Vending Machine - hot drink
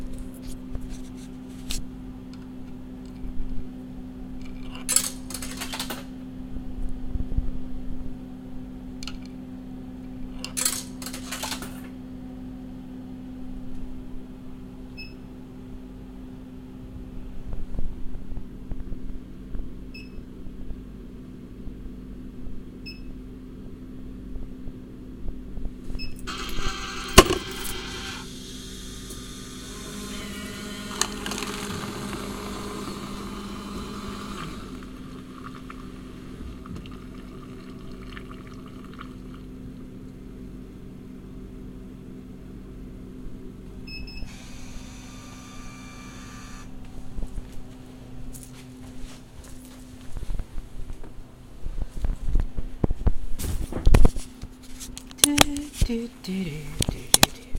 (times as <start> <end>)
0.0 6.4, 8.3 12.6, 25.9 40.4, 43.8 46.8, 54.7 57.5